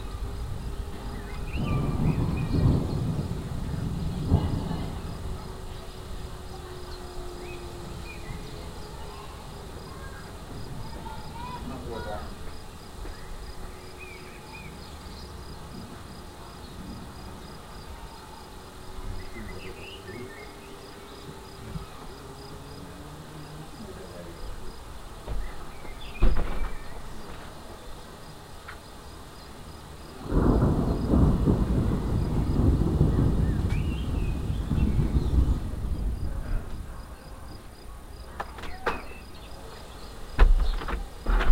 0.0s thunder 7.2s
0.0s rain 41.5s
30.1s thunder 37.6s

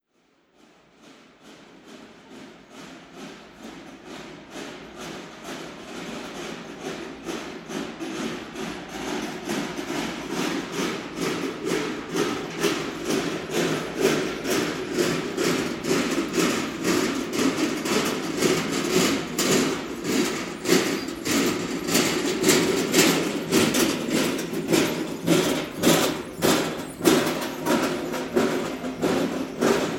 8.1s big cart passing by 29.9s

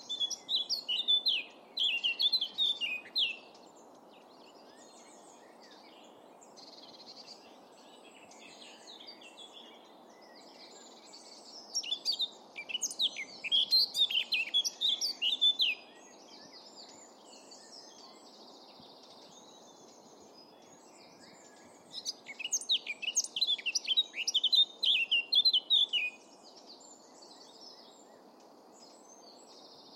0.0s Blackcap singing 3.6s
11.5s Blackcap singing 16.0s
21.2s Blackcap singing 26.7s

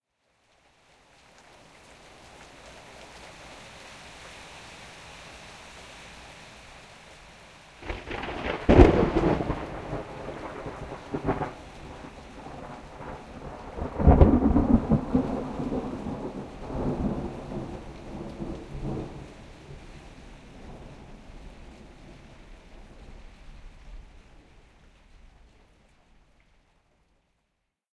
0.0s rain 27.8s
7.8s Thunder Crack 19.8s

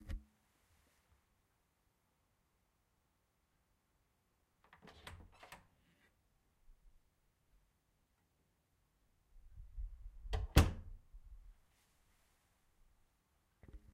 4.6s Door opened and closed 6.1s
10.3s Door opened and closed 11.0s

